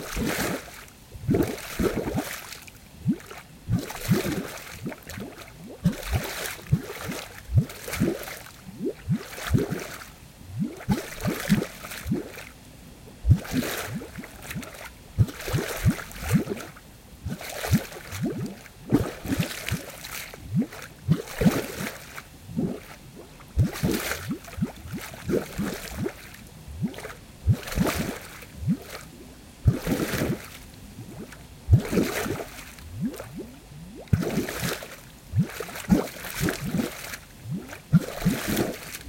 0.0s huge bubbles of air bubbling up from within the water 12.5s
13.2s huge bubbles of air bubbling up from within the water 39.0s
29.7s huge splashes 33.4s
34.0s huge splashes 39.0s

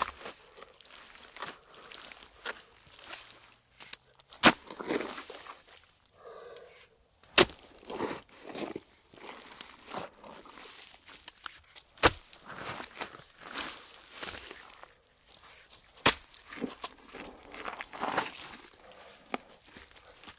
0.0s digging in the mud 20.3s

